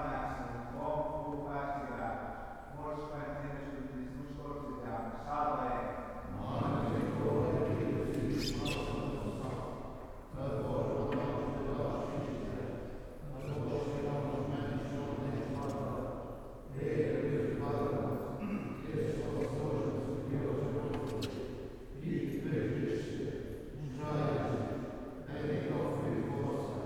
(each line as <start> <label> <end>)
6.3 singing at the church door 26.8